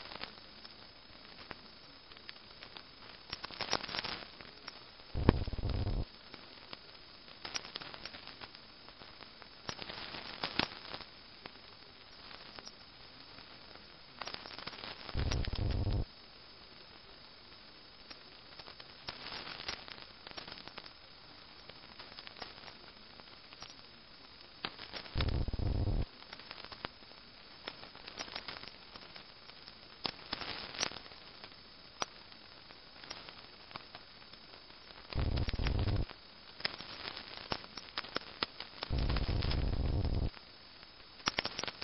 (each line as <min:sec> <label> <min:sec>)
0:00.0 Static from lightning 0:12.5
0:05.2 other transmission that was faint 0:06.1
0:13.2 Static from lightning 0:23.5
0:14.3 other transmission that was faint 0:16.1
0:24.2 Static from lightning 0:27.2
0:25.0 other transmission that was faint 0:26.1
0:32.6 Static from lightning 0:41.8
0:35.1 other transmission that was faint 0:36.1
0:38.9 other transmission that was faint 0:40.4